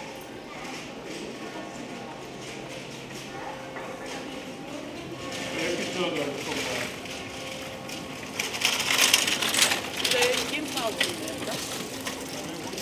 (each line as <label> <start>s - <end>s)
walking in the old cobblestones streets 0.0s - 12.8s
discussing and laughing 1.4s - 12.8s